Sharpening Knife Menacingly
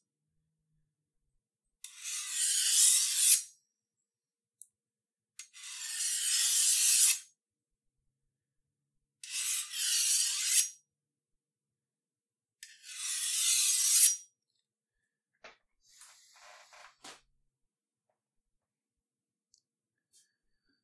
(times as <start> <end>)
1.9 3.5, 5.6 7.3, 9.2 10.7, 12.8 14.2